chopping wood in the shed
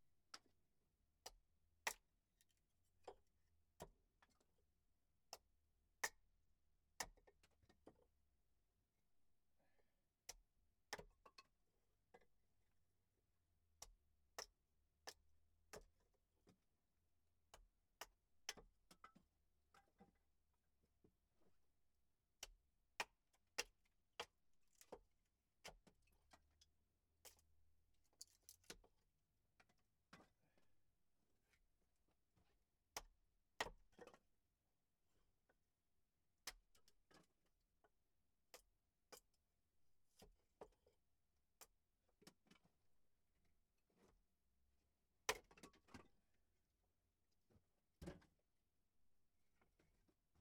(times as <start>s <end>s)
1.2s 4.6s, 5.3s 8.1s, 45.3s 46.1s, 48.0s 48.2s